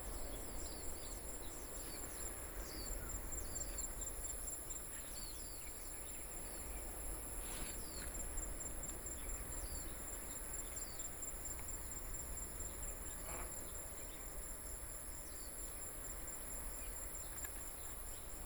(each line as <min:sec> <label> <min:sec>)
0:00.0 Cicadas sound 0:18.4